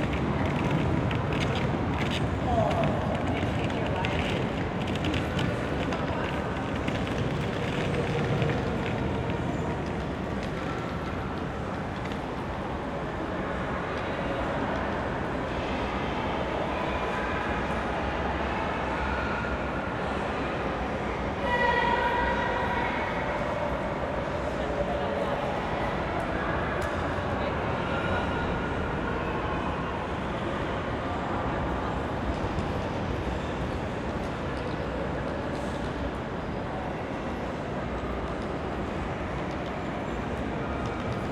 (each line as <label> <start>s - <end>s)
steps of passers-by on a piece of wood on the floor 0.0s - 15.0s
steps of passers-by on a piece of wood on the floor 37.9s - 41.3s